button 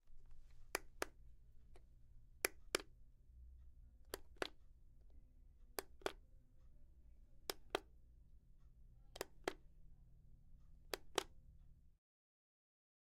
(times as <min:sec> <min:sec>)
0:04.1 0:04.6, 0:09.2 0:09.6, 0:10.9 0:11.3